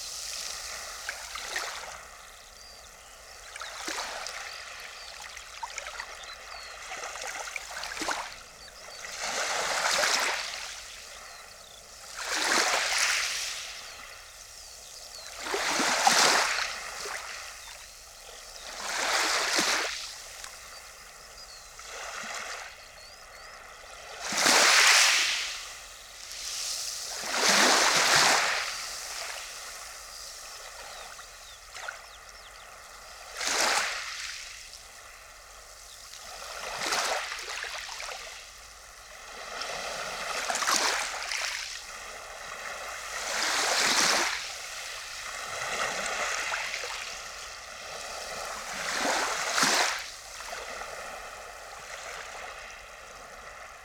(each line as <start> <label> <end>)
0.0 Tiny waves on sandy shore 53.8